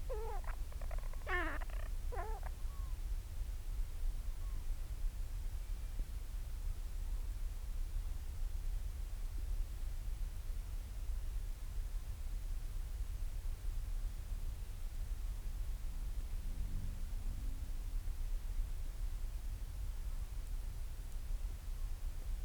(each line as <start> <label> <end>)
0.0 storm petrel calls and purrings 2.9